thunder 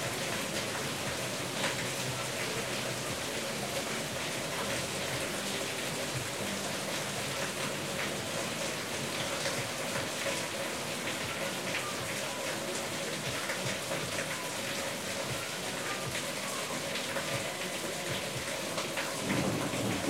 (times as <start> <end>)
19.2 20.0